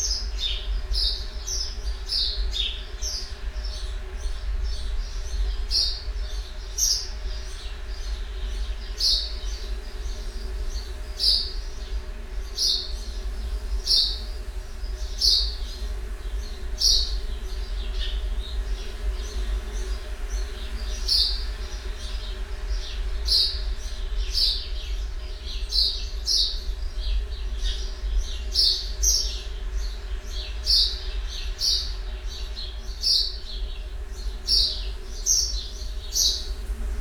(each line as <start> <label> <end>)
0.0 song thrush 37.0